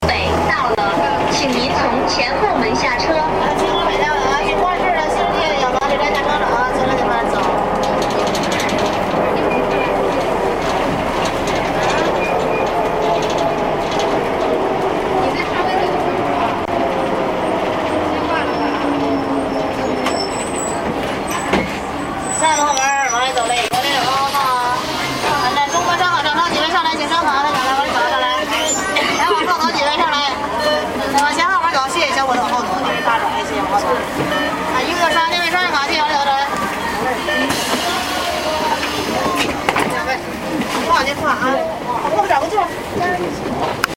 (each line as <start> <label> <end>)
0.0 taking a bus 43.9